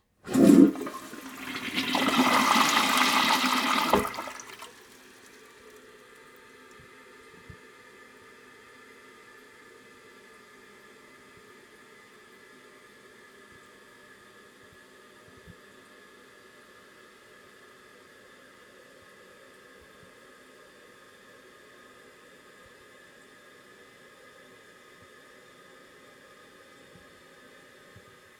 toilet flush 0.2 - 5.8

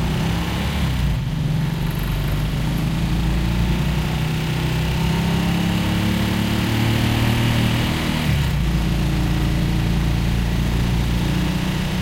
engine of the tricycle 0.0 - 12.0

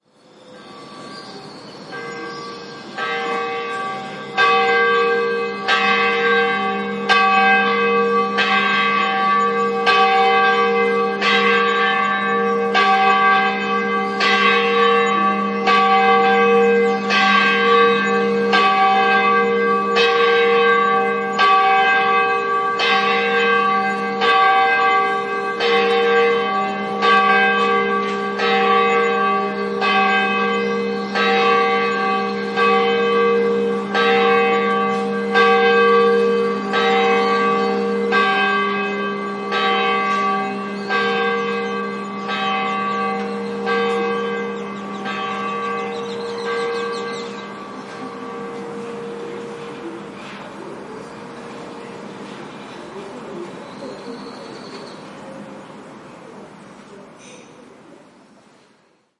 city noise 0.0 - 59.1
birds in background 0.0 - 7.1
Church bell pealing 0.2 - 57.9
birds in background 7.7 - 38.3
birds in background 39.0 - 59.1

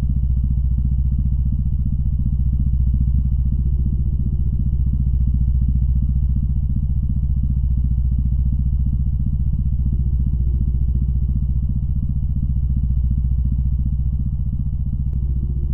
drone 8.1 - 15.7

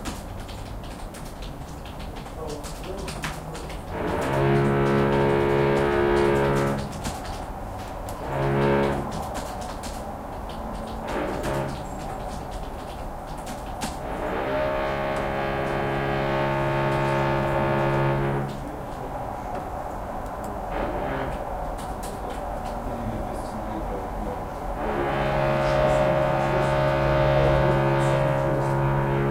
Construction works behind the wall 0.0 - 29.3
keyboard 0.0 - 29.3

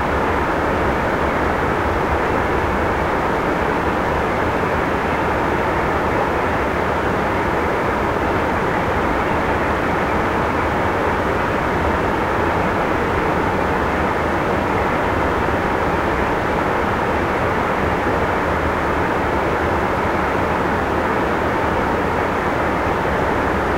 meltwater at a series of small waterfalls 0.0 - 23.7

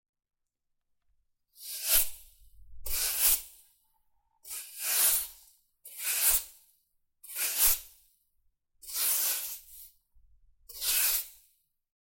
Sweeping with broom 4.5 - 6.6
Sweeping with broom 7.3 - 7.9
Sweeping with broom 8.8 - 9.9
Sweeping with broom 10.7 - 11.4

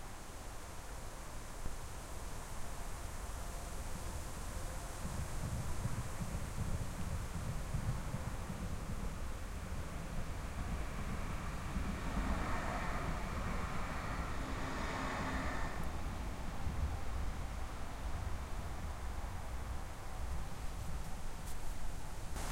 tram bypass 1.8 - 22.5
strong wind 3.0 - 22.5
autobahn 10.6 - 17.4

